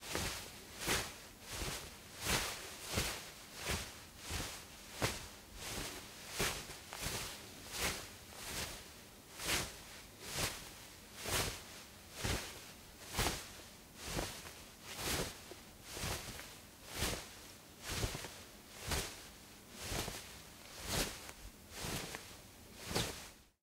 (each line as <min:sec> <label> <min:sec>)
0:00.0 Cloth Rustle 0:23.6